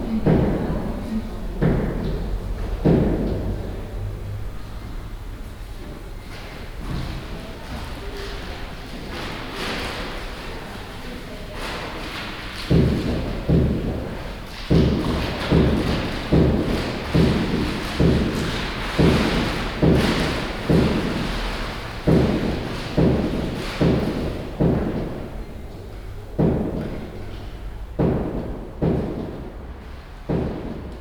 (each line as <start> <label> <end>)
0.0 people talking 5.0
11.4 post office worker stamping envelopes 31.0